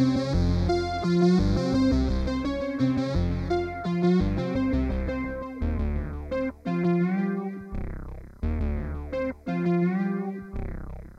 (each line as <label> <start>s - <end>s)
techno 0.0s - 11.1s